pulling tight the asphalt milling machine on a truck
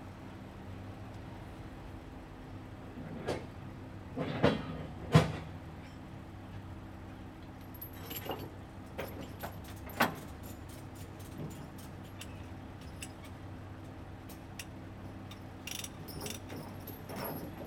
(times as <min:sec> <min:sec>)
0:14.4 0:17.6